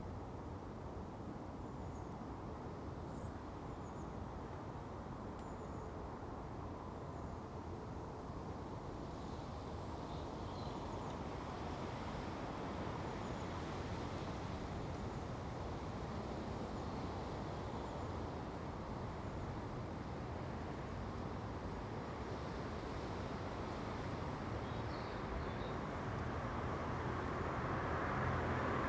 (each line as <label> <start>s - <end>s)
Cars pulse along the road behind me 18.9s - 28.8s